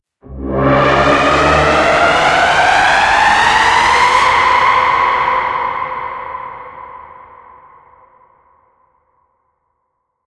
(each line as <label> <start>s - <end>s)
synth 0.2s - 5.7s